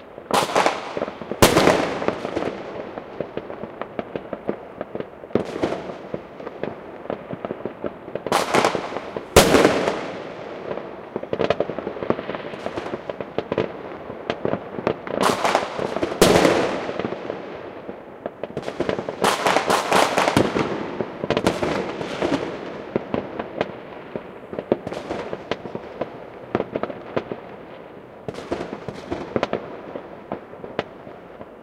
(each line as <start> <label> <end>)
0.0 firework 31.6